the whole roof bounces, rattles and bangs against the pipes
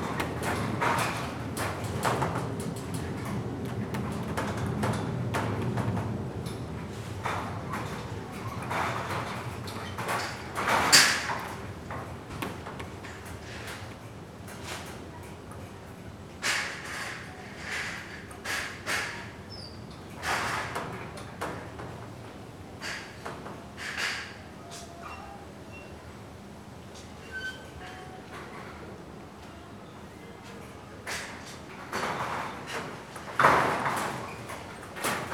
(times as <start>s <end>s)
0.0s 14.9s, 22.8s 24.4s, 31.1s 35.3s